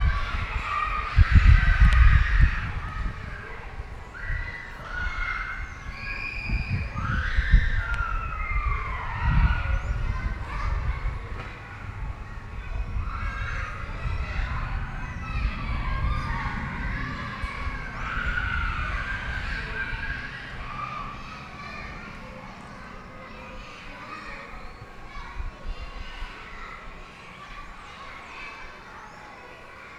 Children playing, running, yelling, talking 0.0 - 29.9

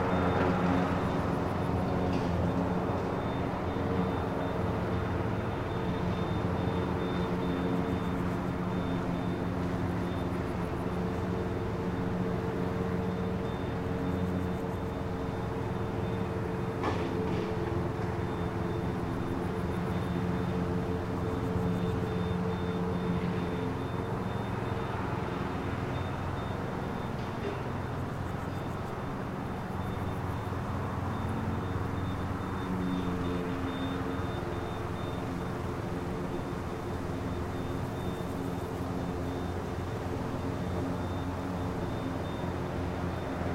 crickets 0.1 - 43.5

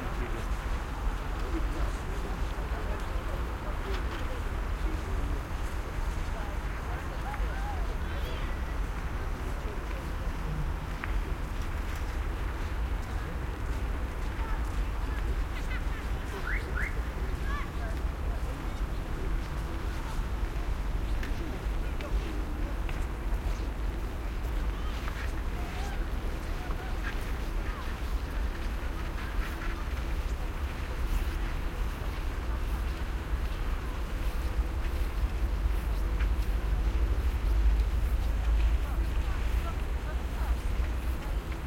crowd walking and talking russian 0.0 - 41.6
Snow footsteps 16.4 - 41.6

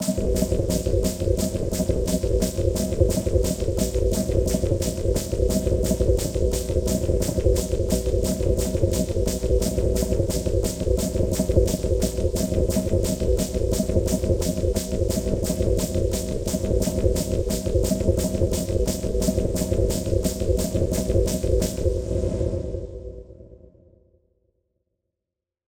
Snare Drum 0.0 - 21.9
Bass Drum 0.0 - 23.2

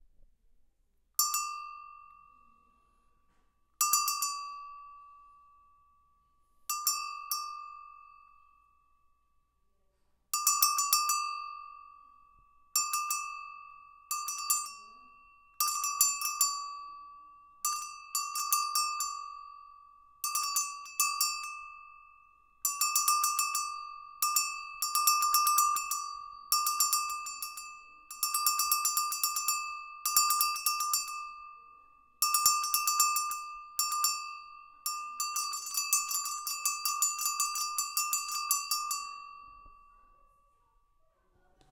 Cow Goat Bell 3.8 - 5.4
Cow Goat Bell 6.7 - 8.4
Cow Goat Bell 10.4 - 40.1

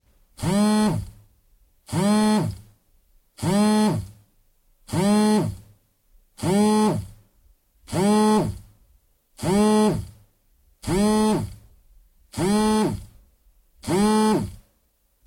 Cellphone / mobile phone vibrating on wooden desk 0.4 - 1.3
Cellphone / mobile phone vibrating on wooden desk 1.9 - 2.8
Cellphone / mobile phone vibrating on wooden desk 3.4 - 4.2
Cellphone / mobile phone vibrating on wooden desk 4.9 - 5.8
Cellphone / mobile phone vibrating on wooden desk 6.4 - 7.2
Cellphone / mobile phone vibrating on wooden desk 7.9 - 8.8
Cellphone / mobile phone vibrating on wooden desk 9.4 - 10.2
Cellphone / mobile phone vibrating on wooden desk 10.8 - 11.7
Cellphone / mobile phone vibrating on wooden desk 12.3 - 13.2
Cellphone / mobile phone vibrating on wooden desk 13.8 - 14.7

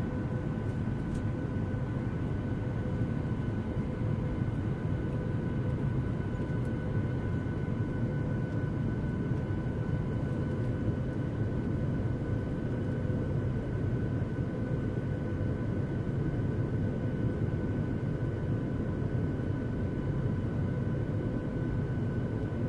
Inflight ambiance cabin noise 0.0 - 22.6

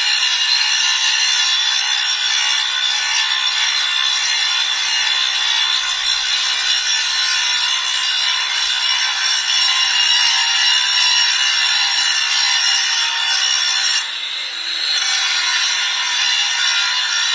noise of polishing 0.0 - 17.3

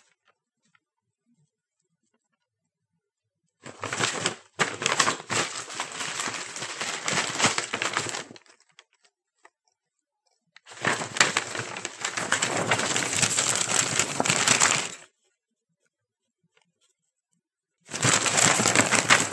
Leafing through papers and magazines quickly 3.6 - 8.6
Leafing through papers and magazines quickly 10.7 - 15.1
Leafing through papers and magazines quickly 17.9 - 19.3

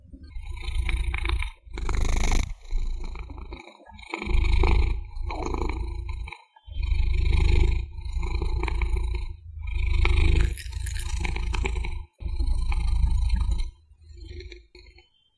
Cat purr 0.2 - 15.0

